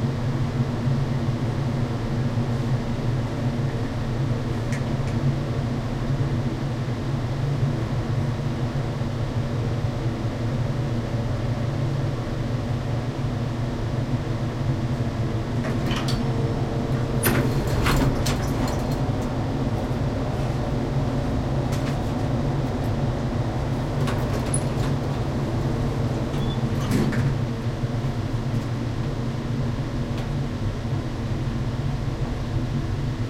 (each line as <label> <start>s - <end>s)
heavy ventilation 0.0s - 33.2s
elevator ride 11.3s - 33.2s
doors open close 15.6s - 19.4s
doors open close 26.0s - 27.4s